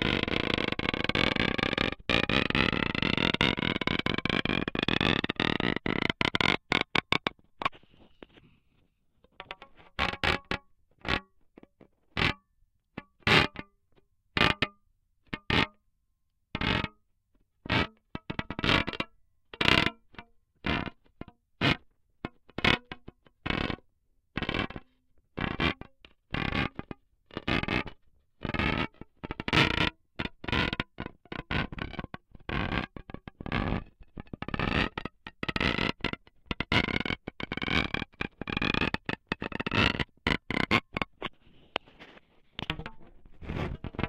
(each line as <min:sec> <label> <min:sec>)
0:42.6 guitar string 0:44.0